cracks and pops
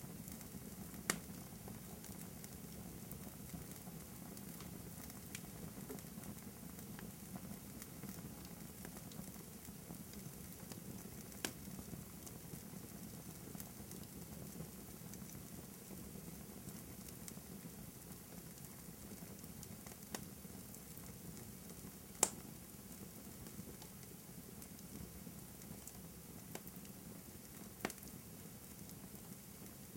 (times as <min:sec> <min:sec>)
0:01.1 0:01.3, 0:22.2 0:22.5, 0:27.8 0:28.1